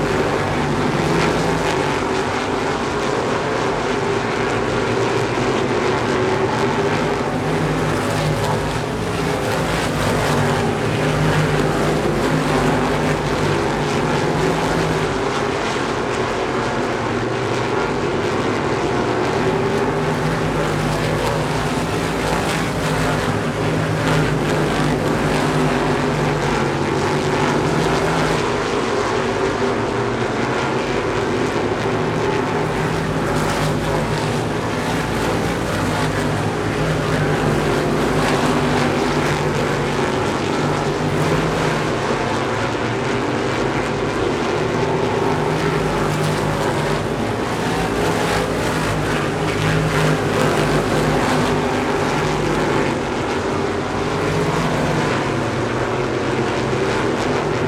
Supermodified Feature Race 0:00.0 - 0:57.6

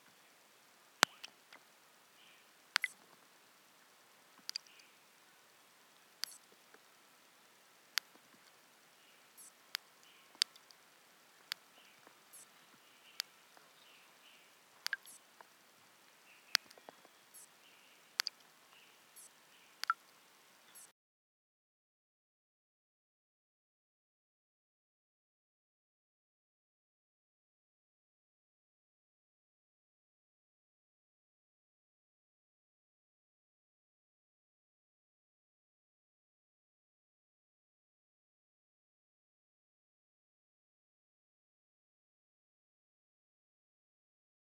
water drops falling down into the pond 0:01.0 - 0:01.6
water drops falling down into the pond 0:02.7 - 0:03.2
water drops falling down into the pond 0:04.4 - 0:05.0
water drops falling down into the pond 0:14.8 - 0:15.5
water drops falling down into the pond 0:16.4 - 0:17.5
water drops falling down into the pond 0:18.1 - 0:18.5
water drops falling down into the pond 0:19.2 - 0:20.2

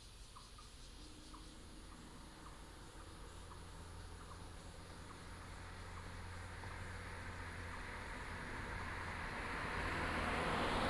traffic sound 0:00.0 - 0:10.8

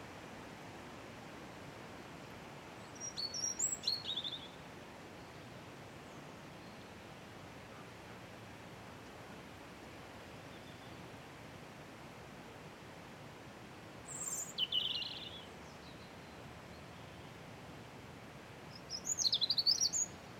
Wind in Trees 0:00.0 - 0:20.3
Robin Singing 0:02.9 - 0:04.6
Robin Singing 0:14.1 - 0:16.1
Robin Singing 0:18.7 - 0:20.2

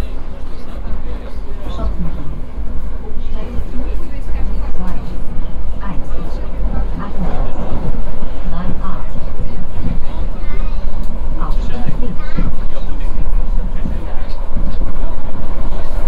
short metro ride 0:00.0 - 0:16.0

